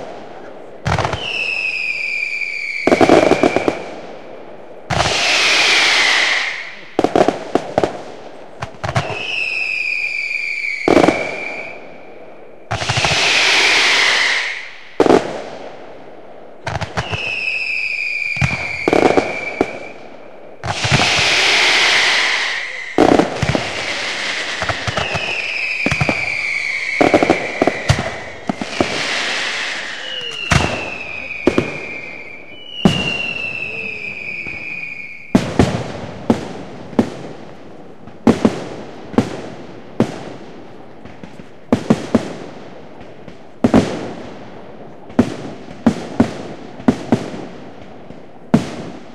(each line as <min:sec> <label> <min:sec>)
0:16.9 roman candles with screamer units 0:35.5